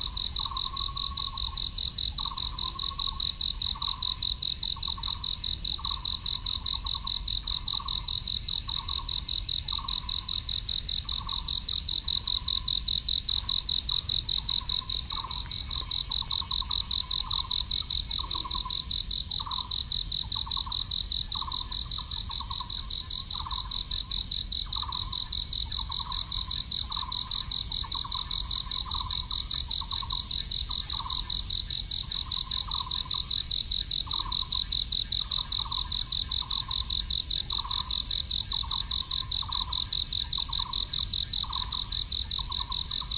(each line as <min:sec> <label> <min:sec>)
0:00.0 Insects 0:43.1
0:00.0 The frogs 0:43.1